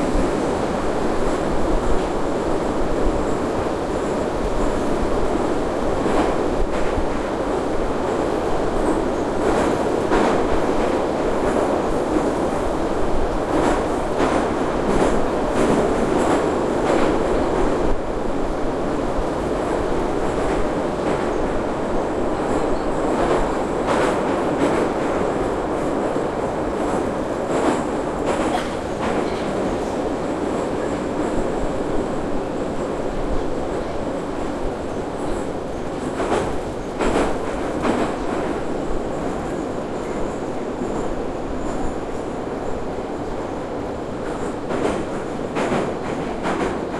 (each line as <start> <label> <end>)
0.0 subway ride 46.9